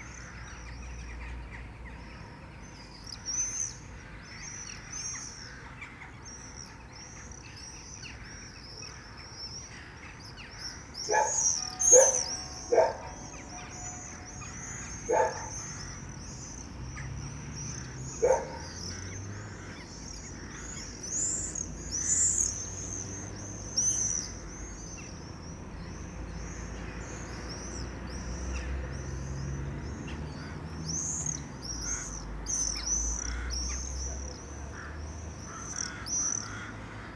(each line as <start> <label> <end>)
11.1 a dog 15.7
11.1 flocking rooks 16.1
11.2 chimes 14.6
18.2 a dog 18.8